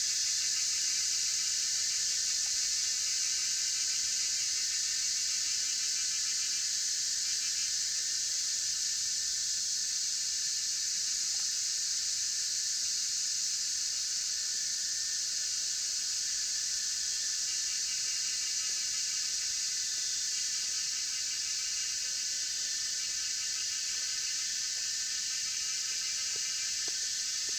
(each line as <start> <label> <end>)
0.0 Cicadas cry 27.5
12.6 Insects called 27.5